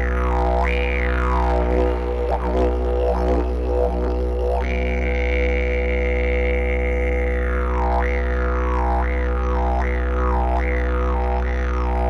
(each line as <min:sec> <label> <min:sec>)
0:00.0 didgeridoo 0:12.0